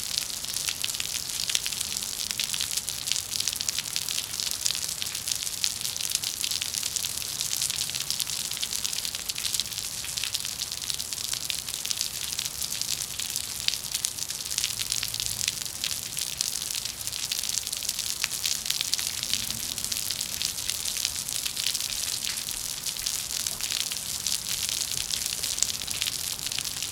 0.0s rain on a cement patio 26.9s

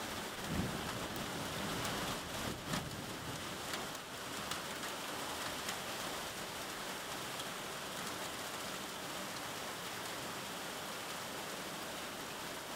0.0s rain 12.7s
0.4s thunder 1.1s

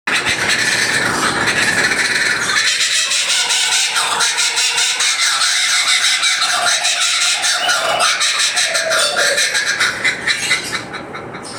0.1s laughing kookaburras 11.5s

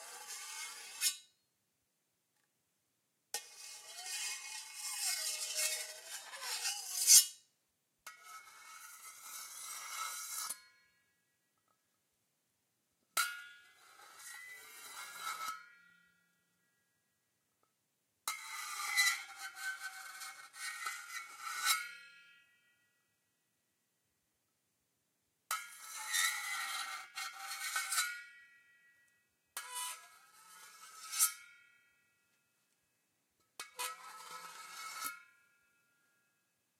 3.4s knife-scrapes 7.4s

